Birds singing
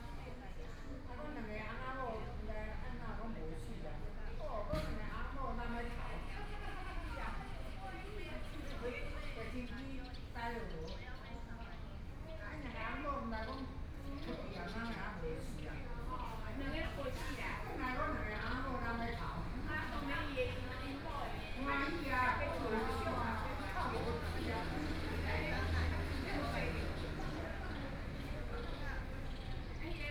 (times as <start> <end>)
8.3 30.1